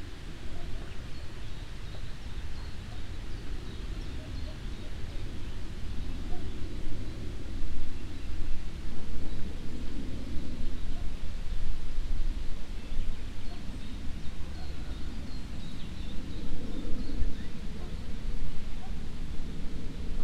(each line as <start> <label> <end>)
0.0 morning birds 20.2
0.0 wind waves crossing the lake and mving the reed 20.2